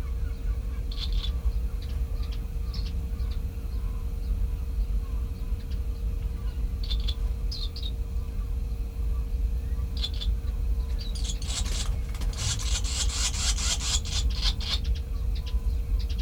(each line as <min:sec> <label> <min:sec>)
0:00.0 common tern 0:08.0
0:00.0 barn swallow nest 0:16.2
0:09.6 common tern 0:16.2
0:09.6 curlew 0:16.2
0:11.0 sandwich tern 0:15.0